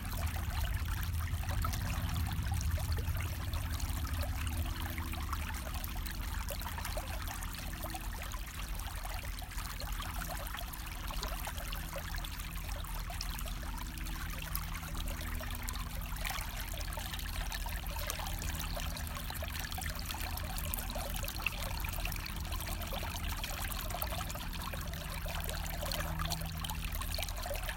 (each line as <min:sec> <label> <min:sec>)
0:00.0 Small river 0:27.7